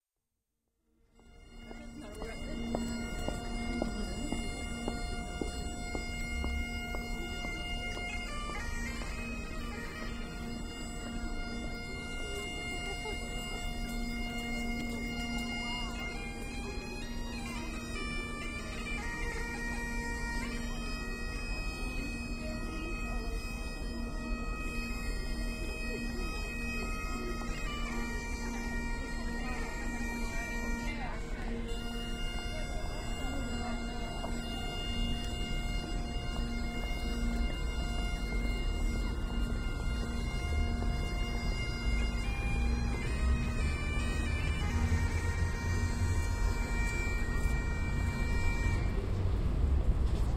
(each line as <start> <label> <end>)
0.9 Bagpipe player busking 50.3
0.9 pedestrians 50.3
1.5 passing traffic 22.8
23.5 passing traffic 50.3